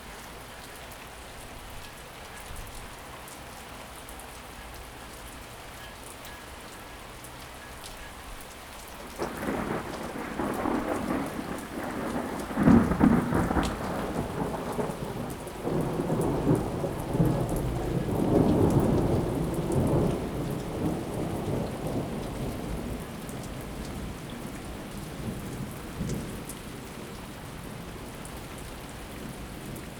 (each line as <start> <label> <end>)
0.0 Rain 29.9
9.2 thunder 23.2